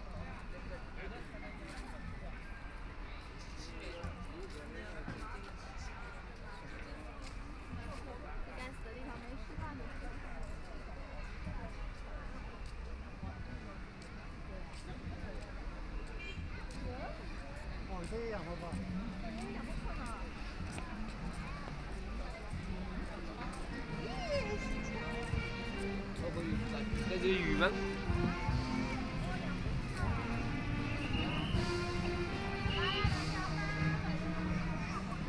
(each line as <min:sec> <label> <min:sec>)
0:23.8 Saxophone performances 0:35.2